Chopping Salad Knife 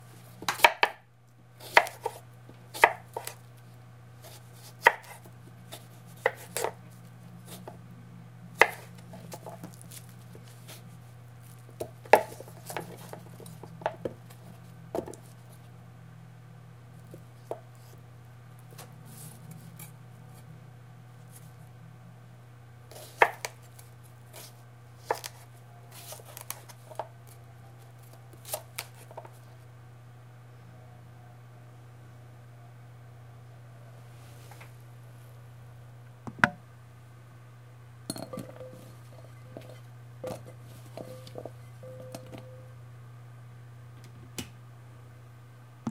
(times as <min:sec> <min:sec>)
0:01.6 0:03.4, 0:04.6 0:06.7